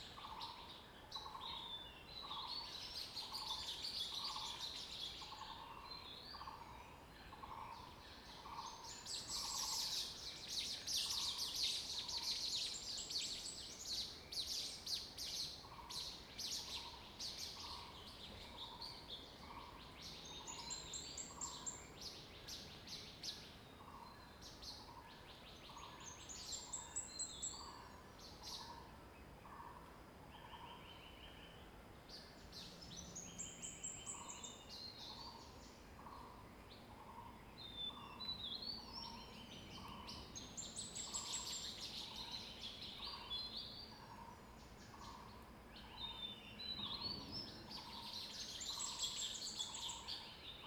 Birds singing 0:00.0 - 0:28.8
Birds singing 0:30.4 - 0:50.6

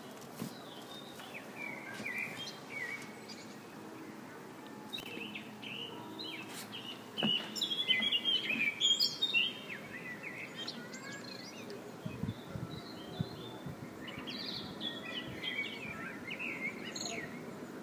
mobile ice cream shop 0:00.0 - 0:17.8

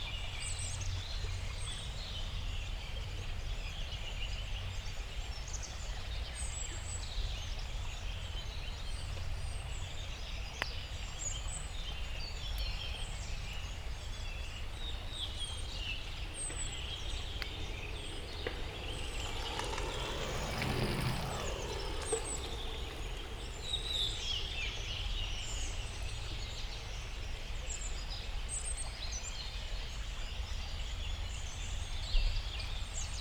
confluence of two creeks 0:15.2 - 0:25.0

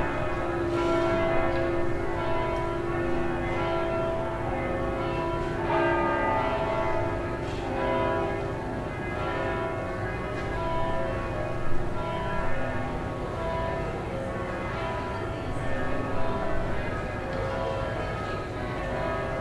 Church bells 0:00.0 - 0:19.4

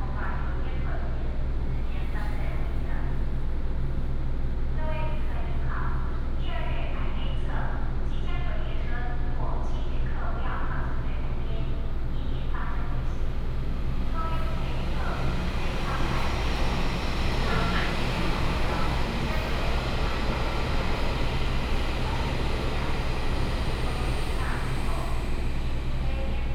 The train passes by 0:10.8 - 0:26.5

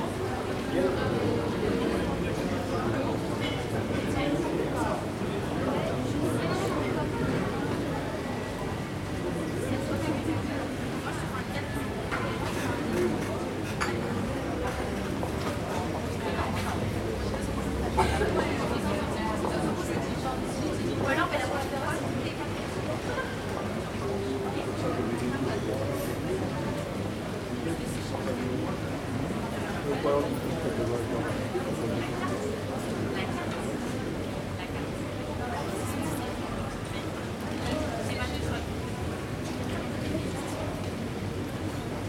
people talk 0:00.0 - 0:42.0

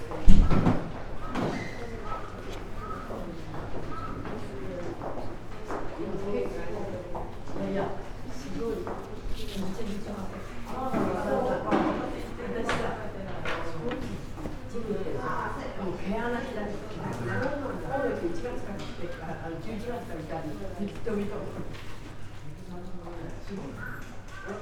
steps 0:00.0 - 0:14.9
whisperings 0:01.6 - 0:05.0
whisperings 0:08.2 - 0:21.6

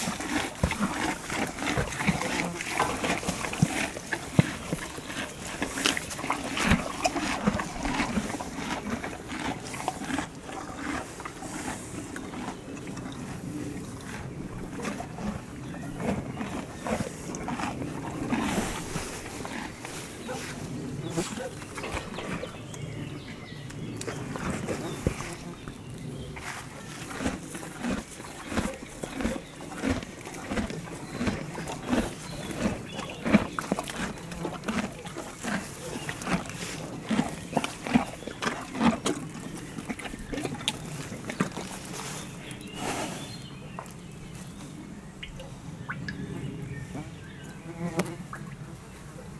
Horses eating 0:00.0 - 0:49.3

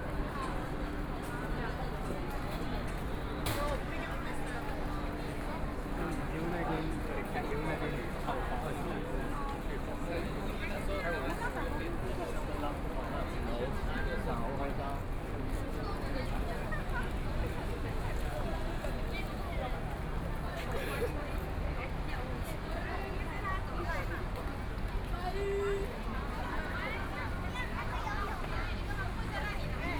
walking in the Street 0:00.0 - 0:29.9

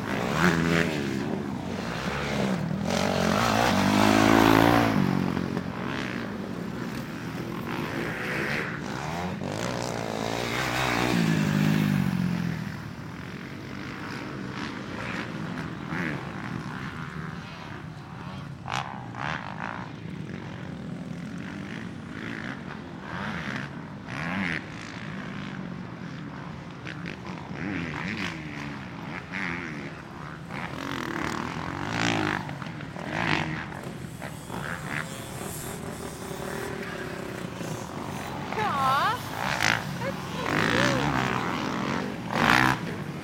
Dirt Bikes 0:00.0 - 0:43.2

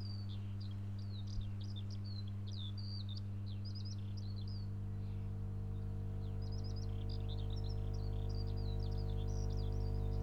small electric substation 0:05.3 - 0:10.2
electric field with coil pick-ups 0:05.6 - 0:10.2

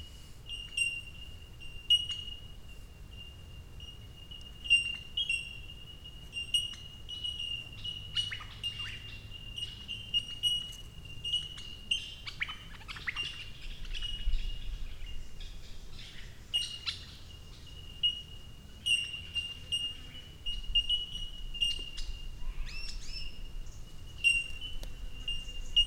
Bellbirds 0:00.0 - 0:25.8

